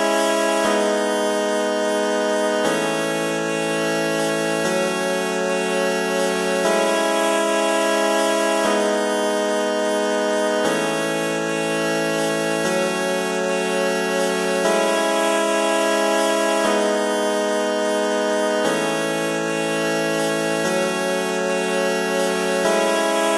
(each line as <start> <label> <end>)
0.0 Kazoo synth 23.3